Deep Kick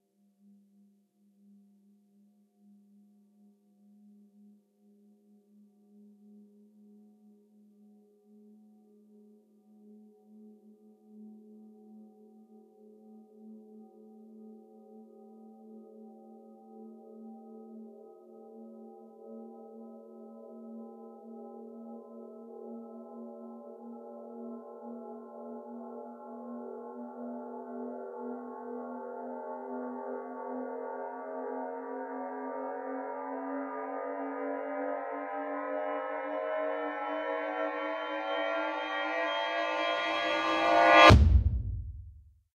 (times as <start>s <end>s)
41.0s 42.3s